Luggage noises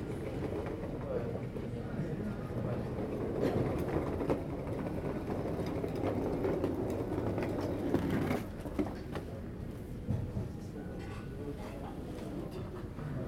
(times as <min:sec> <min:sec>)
0:02.6 0:09.4